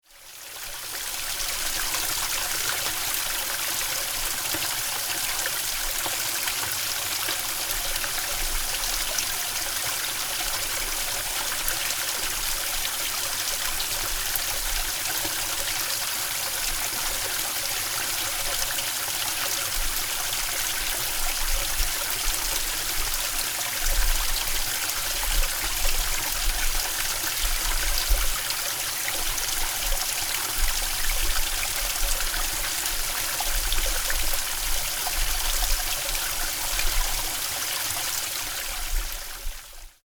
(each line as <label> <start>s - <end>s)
Water 0.0s - 40.0s